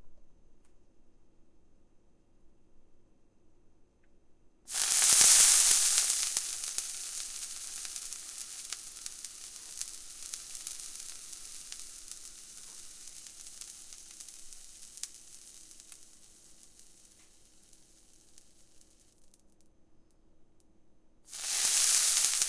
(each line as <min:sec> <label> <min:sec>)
0:04.7 Sizzling drops of water in a pan 0:19.4
0:21.3 Sizzling drops of water in a pan 0:22.4